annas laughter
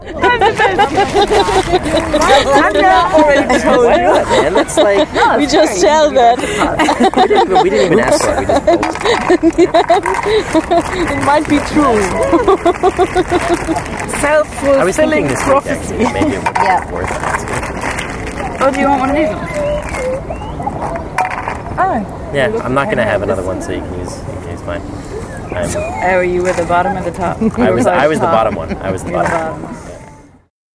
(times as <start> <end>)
0.0 11.3, 12.0 14.0, 26.8 29.6